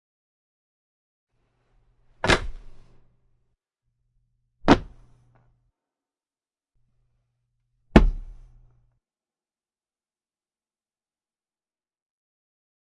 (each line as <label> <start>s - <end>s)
Intestine slap drop 2.2s - 2.9s
Intestine slap drop 4.6s - 5.2s
thump as it lands on a solid floor 4.7s - 5.0s
thump as it lands on a solid floor 7.9s - 8.5s
Intestine slap drop 7.9s - 8.6s